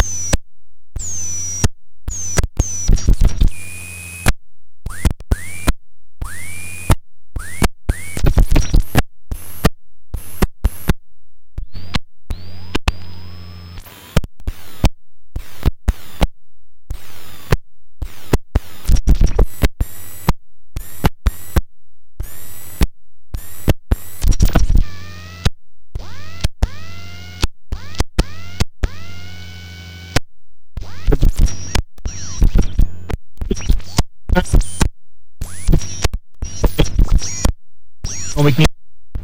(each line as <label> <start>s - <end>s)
crazy radio scratching 1.0s - 4.3s
crazy radio scratching 8.0s - 8.9s
crazy radio scratching 18.8s - 19.6s
crazy radio scratching 24.2s - 24.9s
crazy radio scratching 30.8s - 39.2s